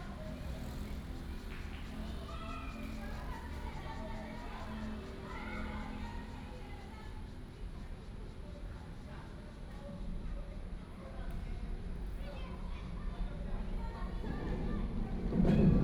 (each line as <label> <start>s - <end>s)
MRT train sounds 0.0s - 9.7s